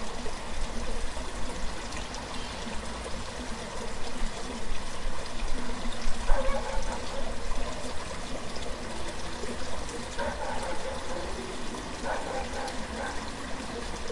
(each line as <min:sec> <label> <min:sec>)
0:00.0 river 0:14.1
0:06.3 barking 0:07.4
0:10.2 barking 0:11.4
0:12.0 barking 0:13.3